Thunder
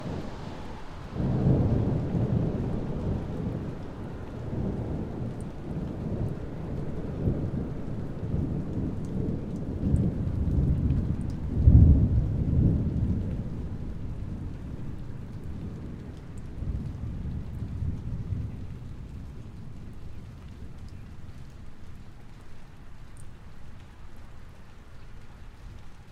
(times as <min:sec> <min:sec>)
0:00.0 0:20.8